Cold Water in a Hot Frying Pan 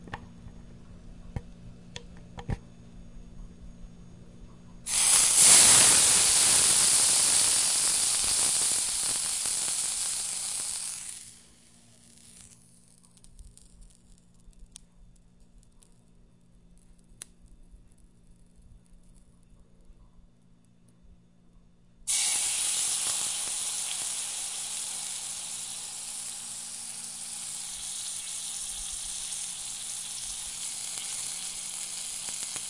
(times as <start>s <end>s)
4.8s 14.3s, 22.1s 32.6s